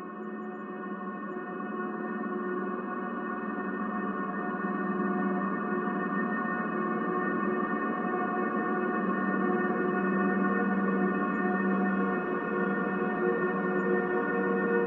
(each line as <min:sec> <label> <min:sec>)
0:00.0 slowly evolving ambient drone pad 0:14.8